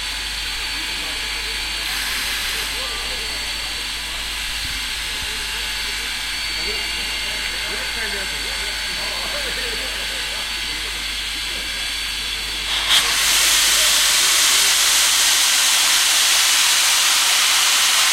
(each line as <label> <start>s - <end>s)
steam train 0.0s - 18.1s